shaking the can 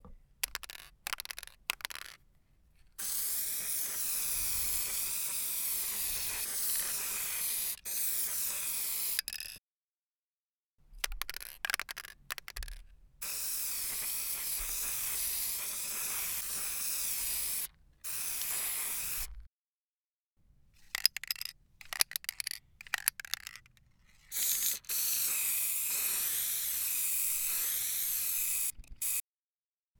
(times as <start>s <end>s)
0.4s 2.2s, 3.0s 9.6s, 11.2s 17.6s, 20.9s 23.6s, 24.3s 29.2s